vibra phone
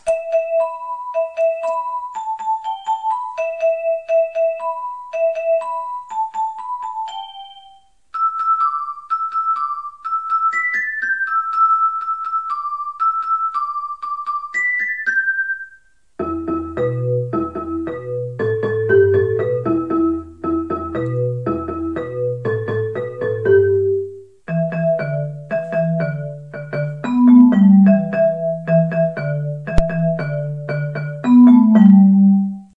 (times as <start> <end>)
20.8 32.7